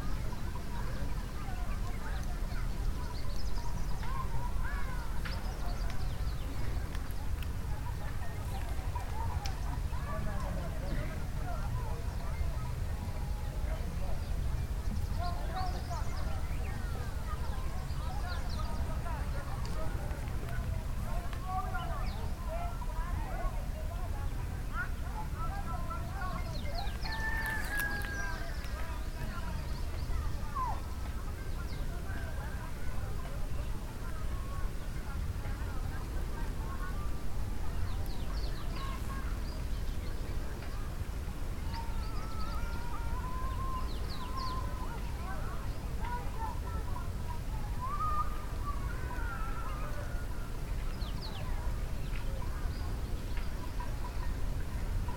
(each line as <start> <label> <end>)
0.0 birds 55.1
0.0 boats down at the lake 55.1
0.0 many voices in the air 55.1